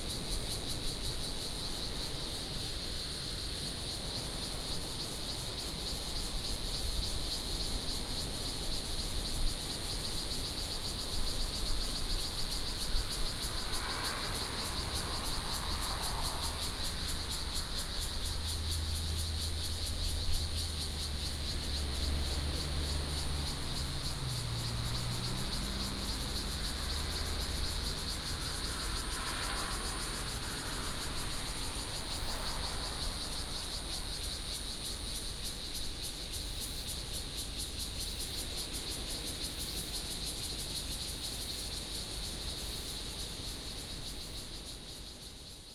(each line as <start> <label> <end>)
0.0 Cicadas sound 45.7
12.9 Traffic Sound 35.4